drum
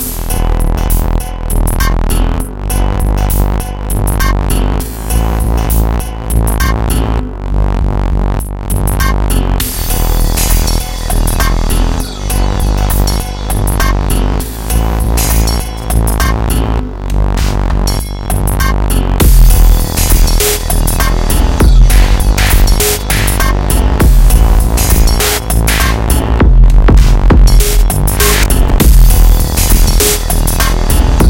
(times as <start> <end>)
17.4 31.2